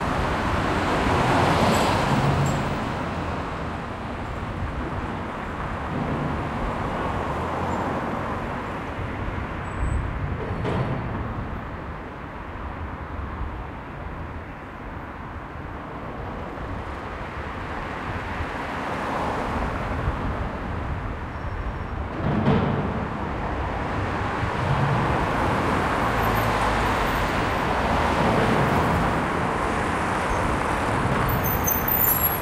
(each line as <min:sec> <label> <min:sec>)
0:00.0 cars 0:32.4